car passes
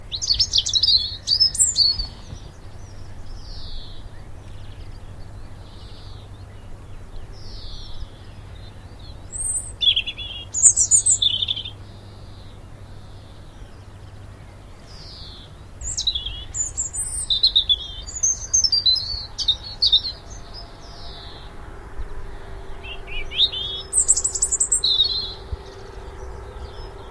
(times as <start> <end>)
17.8 27.1